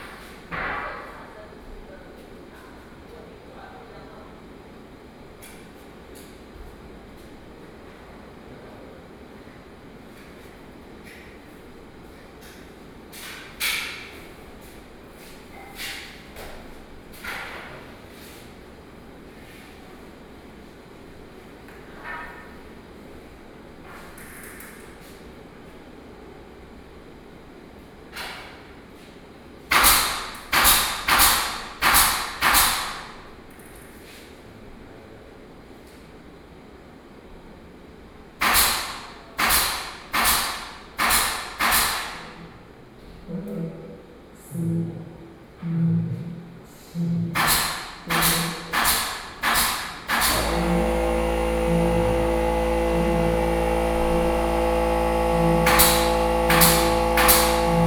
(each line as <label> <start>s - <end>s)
Construction 29.7s - 33.6s
Construction 38.4s - 42.6s
Construction 47.0s - 57.8s